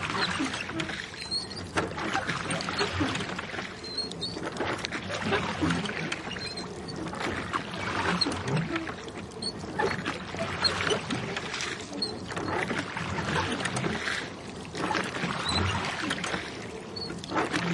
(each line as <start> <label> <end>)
0.0 Rowing boat 17.7